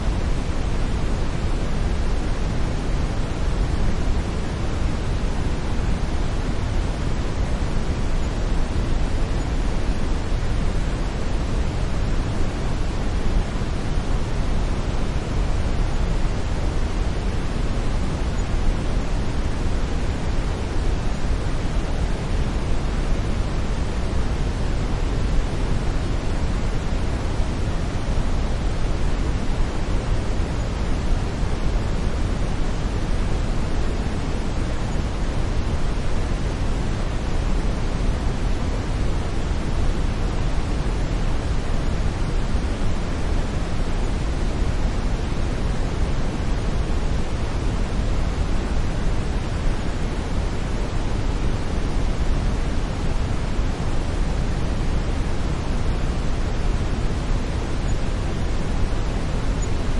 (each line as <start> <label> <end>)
0.0 brown or Brownian noise 59.9